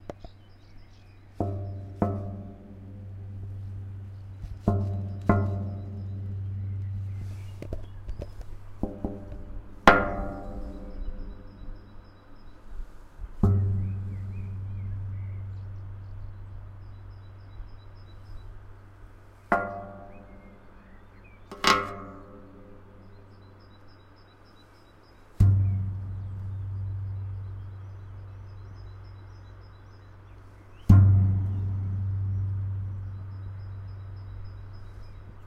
distant birds 0.0 - 35.4
kicking in a huge metal structure 1.4 - 7.2
kicking in a huge metal structure 13.4 - 16.0
kicking in a huge metal structure 25.4 - 27.6
kicking in a huge metal structure 30.8 - 34.0

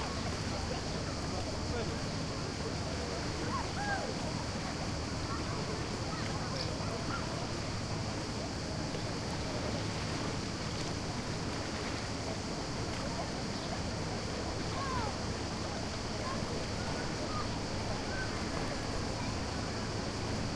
crickets are chirping 0.0 - 20.5
waves 0.0 - 20.5

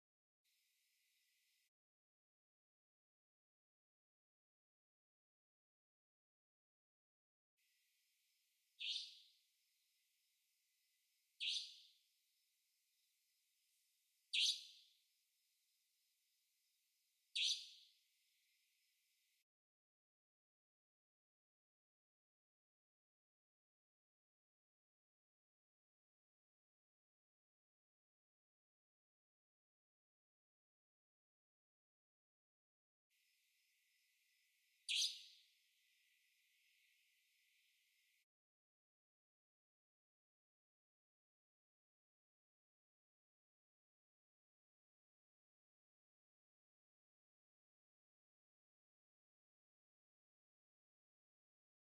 Bird Nightingale 8.8 - 9.4
Bird Nightingale 11.4 - 12.0
Bird Nightingale 14.3 - 15.0
Bird Nightingale 17.3 - 18.0
Bird Nightingale 34.9 - 35.5

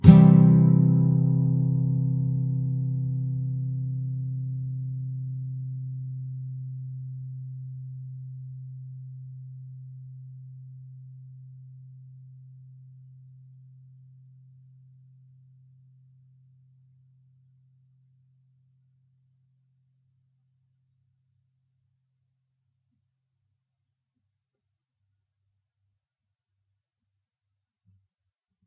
nylon guitar 0.0 - 12.2

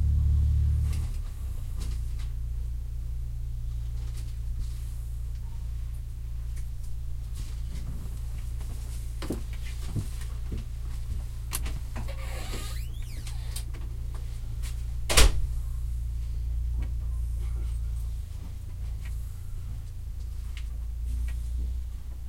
Low frequency rumble of track 0.0 - 22.2
Conductor creak and slam doors 11.5 - 13.9
Conductor creak and slam doors 15.1 - 15.5

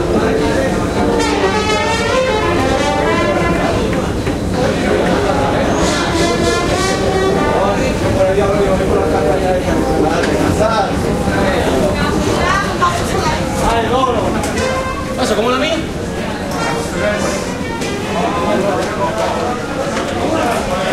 people talking 0.0 - 20.9
distant musician playing a trumpet 0.9 - 4.2
distant musician playing a trumpet 5.6 - 8.0
distant musician playing a trumpet 14.4 - 15.4

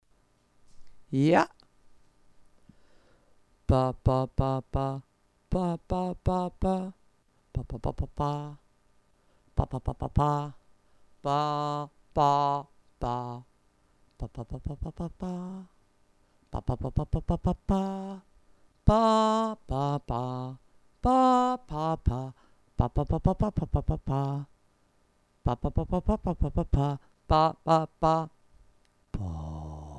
vocal 3.7 - 8.6
vocal 9.6 - 10.6
vocal 11.2 - 13.5
vocal 14.2 - 15.8
vocal 16.5 - 24.5
vocal 25.4 - 28.4
vocal 29.1 - 29.9

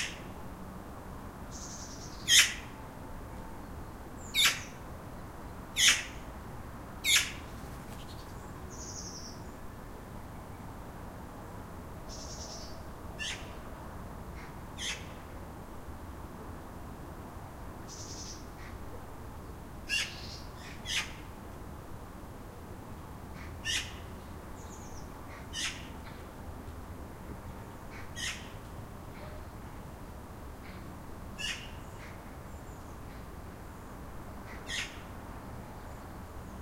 magpie 31.4 - 32.2

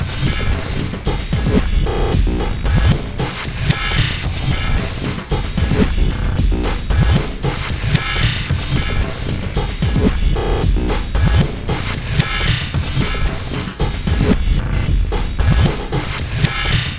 Drum Loop 0.0 - 16.9

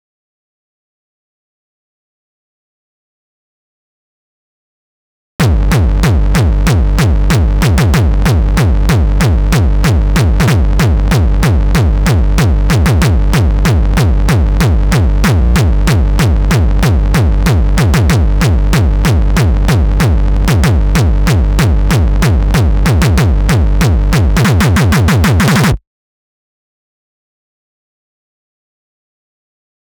distorted kick drums 5.4 - 25.8

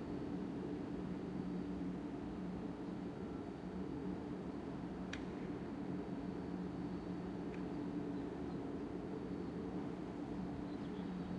subtle sounds of the meadow 7.0 - 11.3

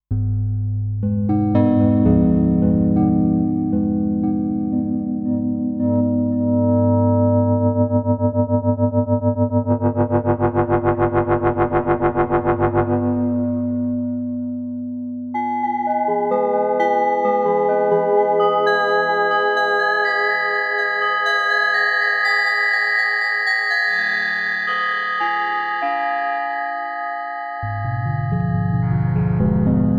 bell 15.4 - 28.6

